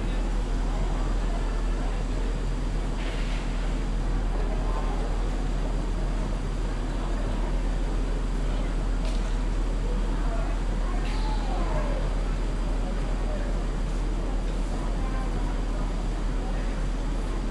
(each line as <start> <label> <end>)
0.0 people 17.5